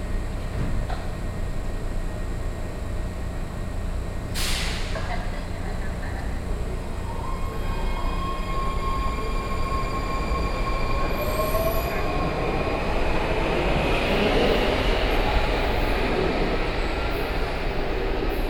0.0s Train 18.4s

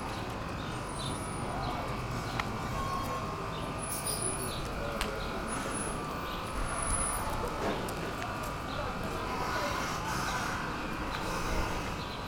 0.0s wind 12.2s

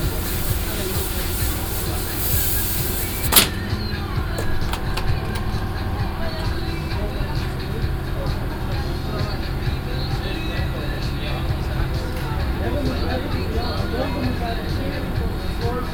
0.0s pneumatic shots 3.8s
0.0s agenerator 6.8s
0.0s music 15.9s
0.0s people talking and having fun 15.9s
3.2s targets got shot 3.6s

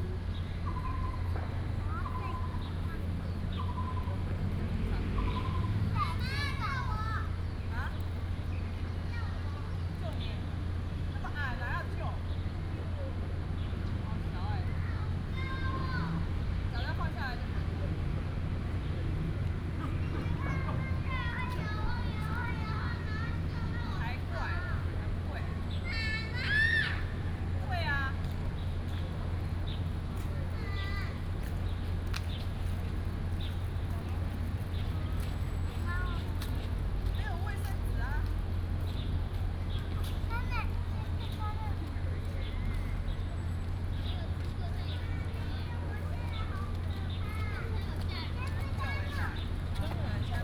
0.6s Bird calls 4.3s
4.7s Mother and child 32.7s
5.1s Bird calls 7.0s
33.3s Mother and child 50.4s

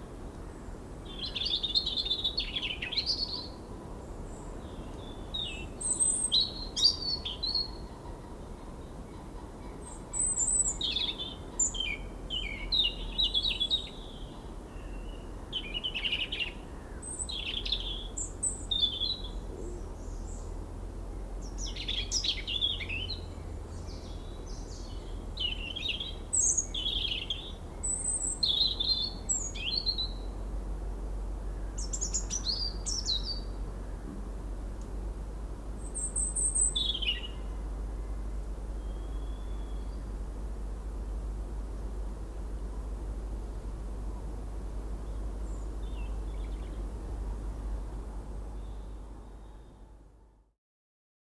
21.4s Two Robins sing 30.3s
31.6s Two Robins sing 33.6s
35.8s Two Robins sing 38.1s

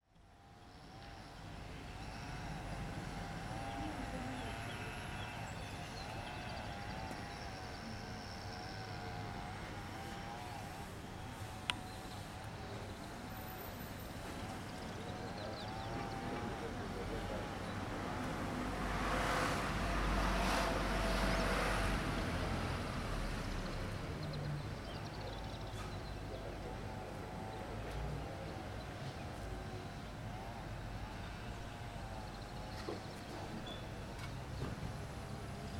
1.6s People are talking 22.7s
8.0s vacuum cleaner coming from a nearby bar 13.6s

